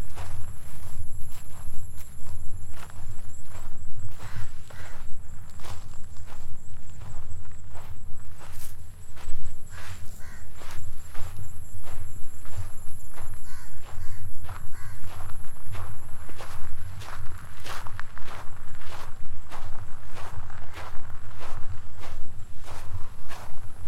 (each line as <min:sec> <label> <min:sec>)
0:00.0 Trail walking 0:23.8
0:04.1 raven 0:05.4
0:09.5 raven 0:11.4
0:13.3 raven 0:15.3